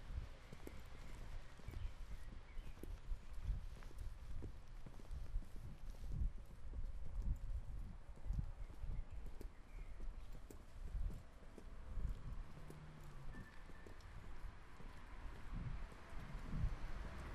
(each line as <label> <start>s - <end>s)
noise of traffic 0.0s - 17.3s
birds are singing 0.1s - 4.0s
birds are singing 8.2s - 11.6s